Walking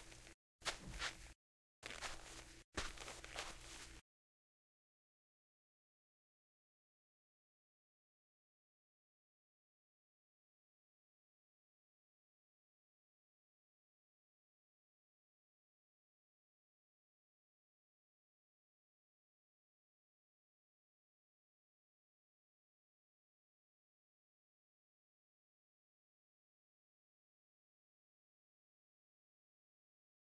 0:00.0 0:04.0

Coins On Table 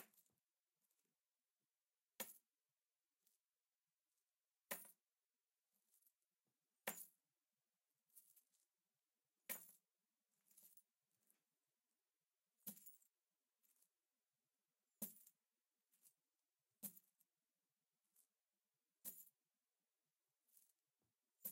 0:12.6 0:13.0

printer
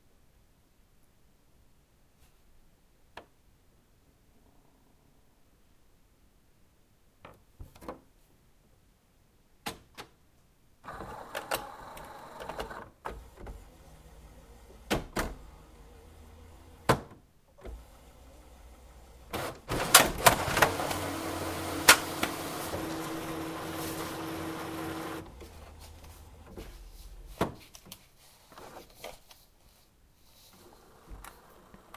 0:10.8 0:17.0, 0:17.6 0:26.8, 0:30.5 0:31.9

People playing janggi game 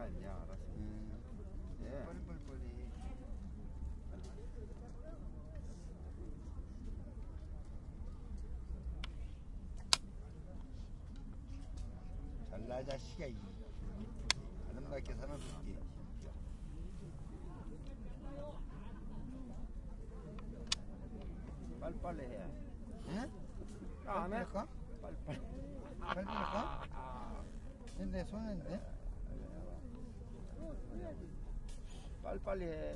0:25.2 0:27.7

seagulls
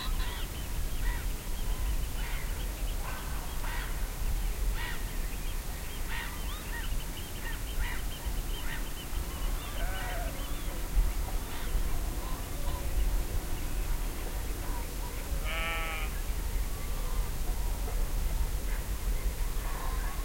0:00.0 0:01.3, 0:06.1 0:10.7

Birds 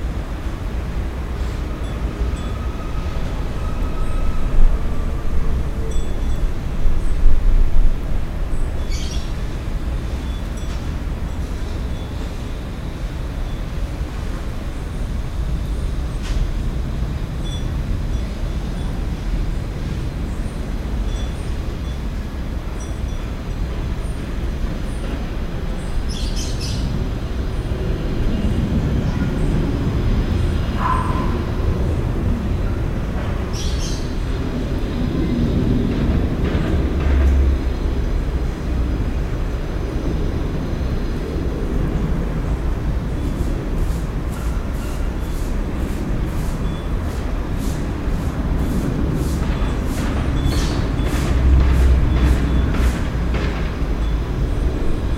0:08.5 0:13.8, 0:22.7 0:47.9, 0:48.6 0:55.1

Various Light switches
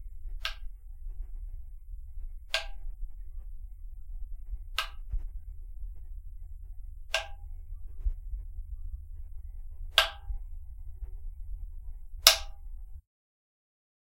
0:00.4 0:00.7, 0:02.5 0:02.9, 0:04.7 0:05.2, 0:07.1 0:07.6, 0:09.9 0:10.4, 0:12.2 0:12.8

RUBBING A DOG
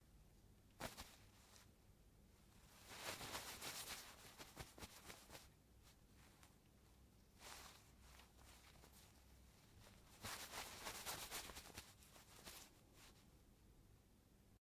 0:02.6 0:06.6, 0:07.4 0:13.3

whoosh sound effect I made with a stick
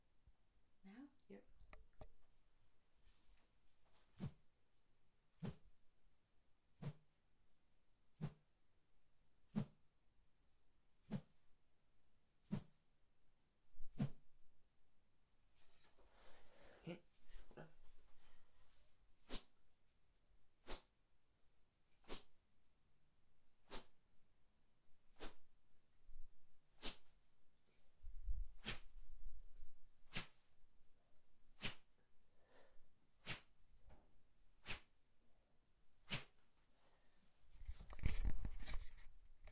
0:06.8 0:07.0, 0:12.5 0:12.7, 0:13.9 0:14.2, 0:22.0 0:22.3, 0:23.7 0:23.9, 0:25.2 0:25.4, 0:26.8 0:27.0, 0:28.6 0:28.8, 0:30.1 0:30.4, 0:31.6 0:31.8, 0:33.2 0:33.5, 0:34.6 0:34.9, 0:36.1 0:36.3

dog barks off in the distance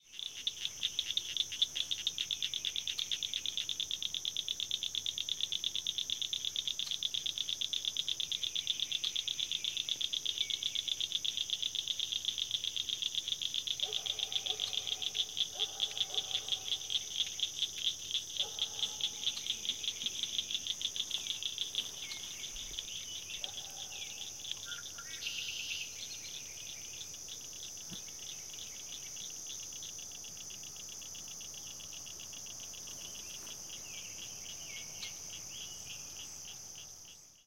0:13.8 0:16.9, 0:18.4 0:19.4, 0:23.4 0:24.2

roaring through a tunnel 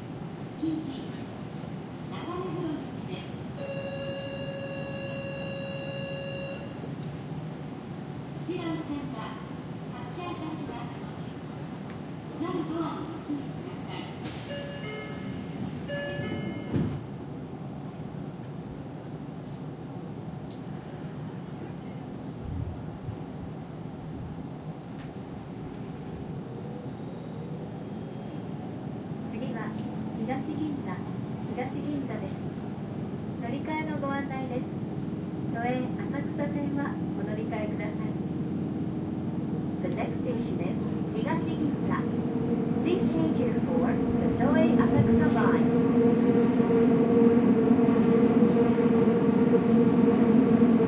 0:15.1 0:50.8

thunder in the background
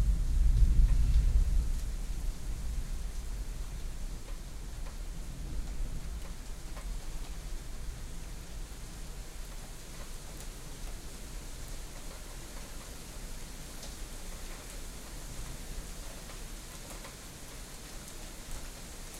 0:00.0 0:02.9

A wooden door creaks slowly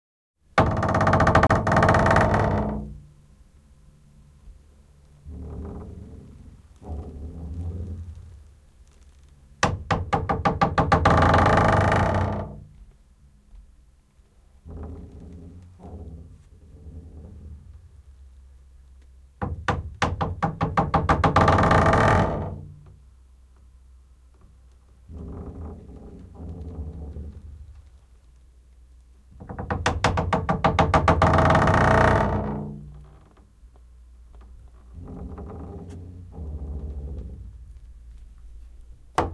0:00.6 0:03.1, 0:05.2 0:13.0, 0:14.6 0:18.1, 0:19.4 0:23.0, 0:24.3 0:28.2, 0:29.3 0:33.5, 0:34.3 0:39.3

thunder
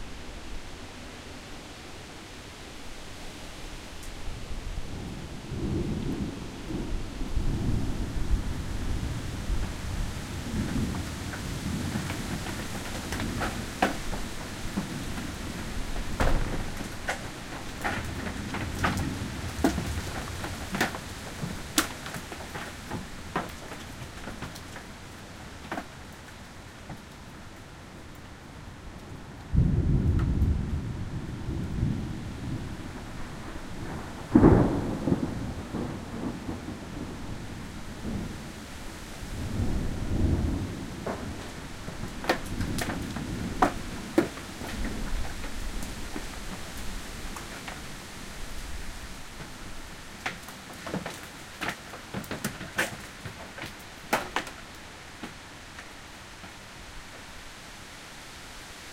0:04.8 0:21.6, 0:29.5 0:46.2

